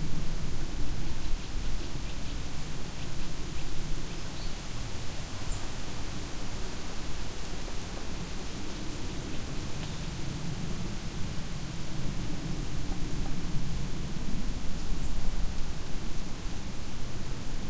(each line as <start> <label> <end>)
0.0 wind 17.6